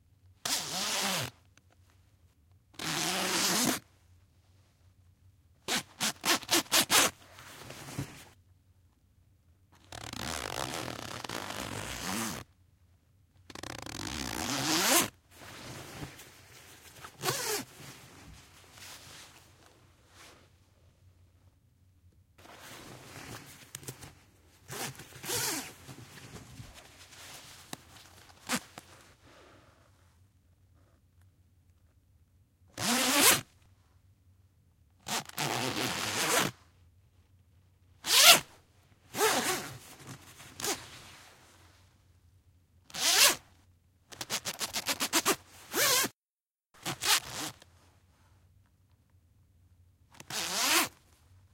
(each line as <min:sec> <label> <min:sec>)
0:00.4 'stuck zipper' sections 0:01.3
0:02.8 'stuck zipper' sections 0:03.8
0:05.7 'stuck zipper' sections 0:08.3
0:09.8 'stuck zipper' sections 0:12.5
0:09.9 wide-tooth zipper being zipped and unzipped at various speeds 0:12.4
0:13.5 'stuck zipper' sections 0:19.2
0:13.5 wide-tooth zipper being zipped and unzipped at various speeds 0:16.1
0:17.2 wide-tooth zipper being zipped and unzipped at various speeds 0:17.7
0:22.4 'stuck zipper' sections 0:27.3
0:24.7 wide-tooth zipper being zipped and unzipped at various speeds 0:25.7
0:28.3 'stuck zipper' sections 0:28.8
0:32.8 'stuck zipper' sections 0:33.5
0:35.0 'stuck zipper' sections 0:36.6
0:35.1 wide-tooth zipper being zipped and unzipped at various speeds 0:36.5
0:38.0 'stuck zipper' sections 0:38.5
0:39.1 'stuck zipper' sections 0:41.0
0:42.9 'stuck zipper' sections 0:43.4
0:42.9 wide-tooth zipper being zipped and unzipped at various speeds 0:43.4
0:44.1 'stuck zipper' sections 0:46.2
0:46.8 'stuck zipper' sections 0:47.6
0:46.8 wide-tooth zipper being zipped and unzipped at various speeds 0:47.6
0:50.2 'stuck zipper' sections 0:51.0
0:50.2 wide-tooth zipper being zipped and unzipped at various speeds 0:50.9